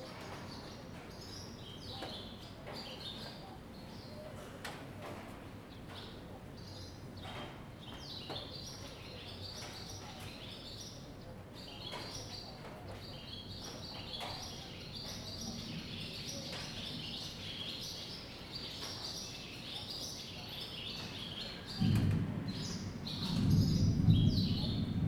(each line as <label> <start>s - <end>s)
thunderstorm 15.2s - 17.6s
thunderstorm 21.0s - 25.0s